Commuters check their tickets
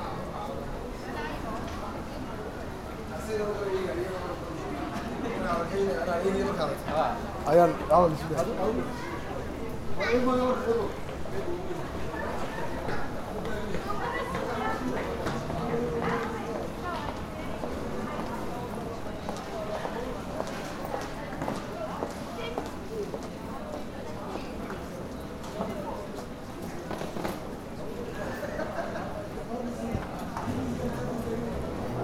6.3 28.3

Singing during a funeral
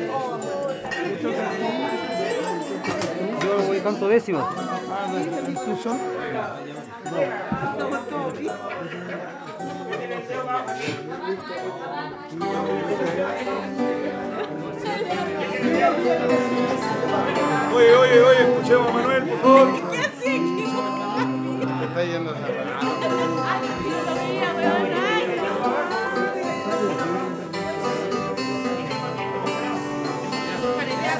12.6 21.9

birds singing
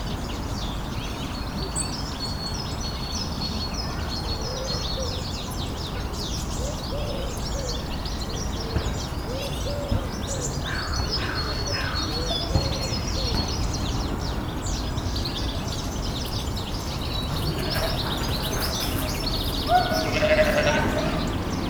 5.3 21.6

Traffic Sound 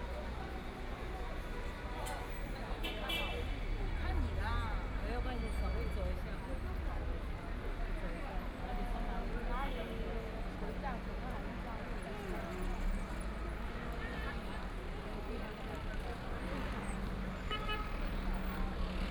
9.9 19.1

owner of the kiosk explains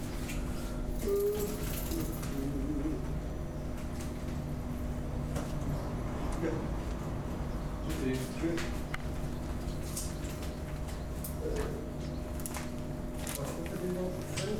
7.8 8.8, 13.2 14.5

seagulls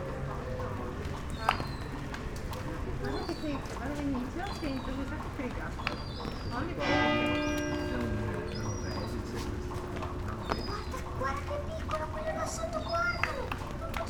5.8 14.0

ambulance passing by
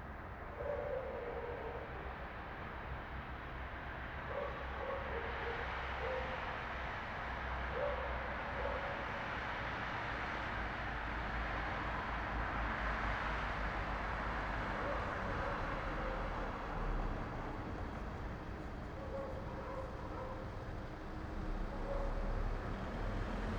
13.2 23.5

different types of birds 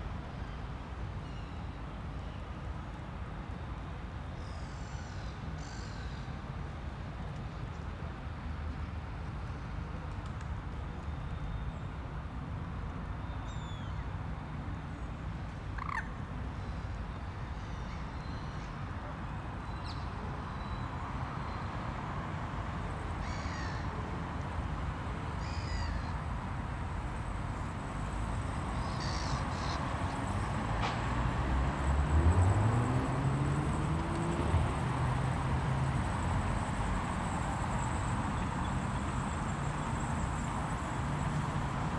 15.8 16.2, 28.8 29.8

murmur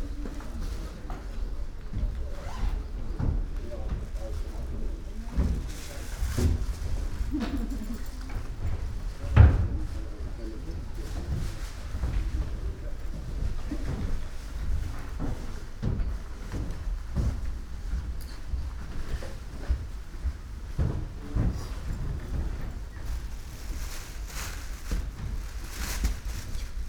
0.0 17.8

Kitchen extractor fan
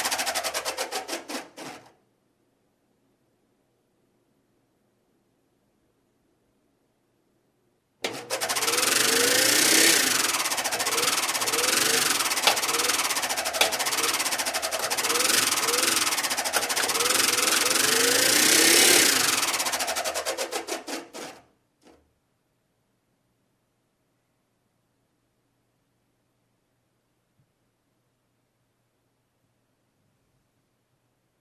0.0 1.9, 8.0 21.4

